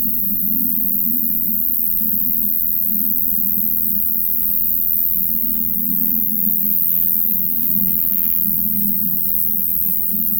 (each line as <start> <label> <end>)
0.0 night cricket 10.3